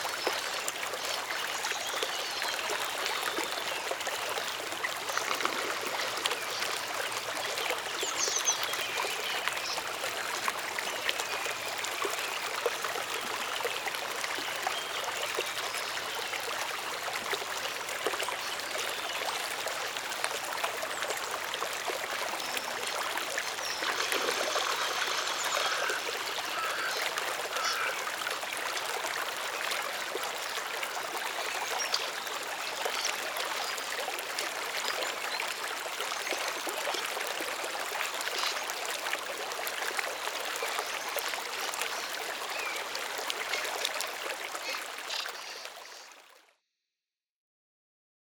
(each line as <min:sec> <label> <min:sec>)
0:00.0 small stream 0:46.7